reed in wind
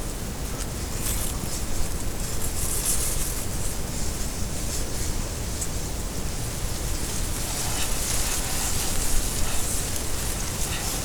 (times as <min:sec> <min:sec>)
0:04.6 0:11.0